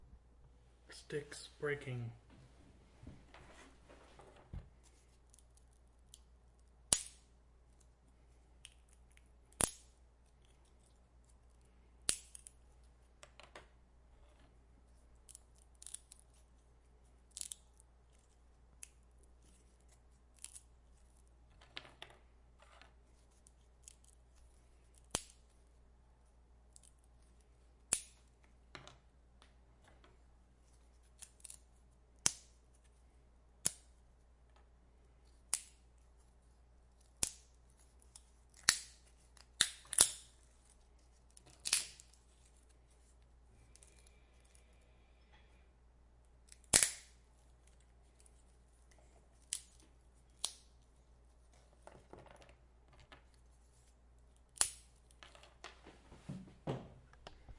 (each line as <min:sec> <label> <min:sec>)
0:41.5 sticks breaking 0:42.2
0:46.5 sticks breaking 0:47.2